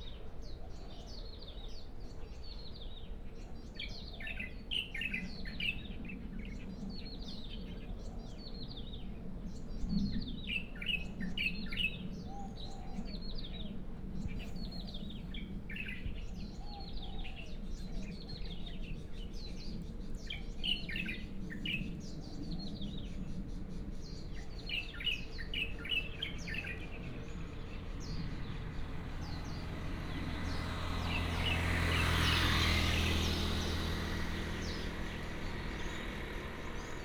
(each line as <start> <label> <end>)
0.0 Various bird tweets 37.0
24.3 traffic Sound 37.0